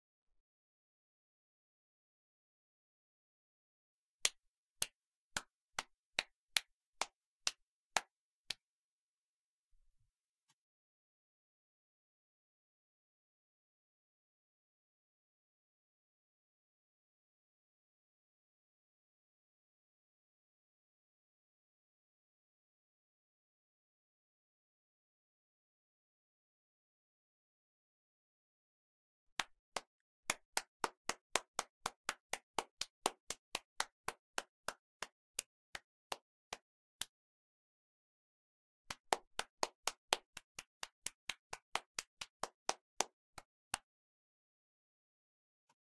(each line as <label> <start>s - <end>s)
Clapping done by a single person 4.2s - 8.6s
Clapping done by a single person 29.4s - 37.2s
Clapping done by a single person 38.9s - 43.9s